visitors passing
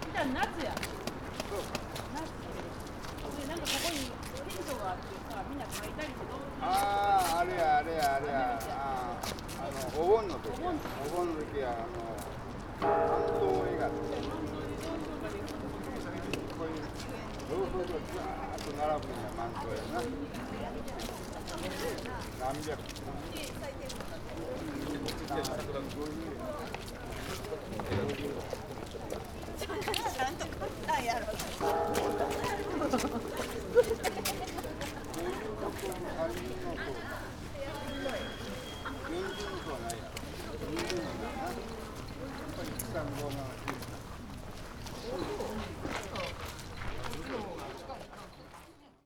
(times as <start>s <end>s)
12.8s 19.7s, 31.6s 45.2s